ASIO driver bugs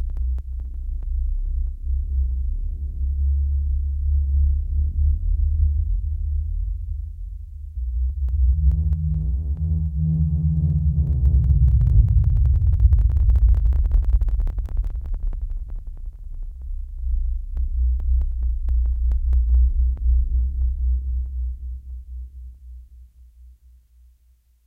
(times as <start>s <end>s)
8.0s 20.7s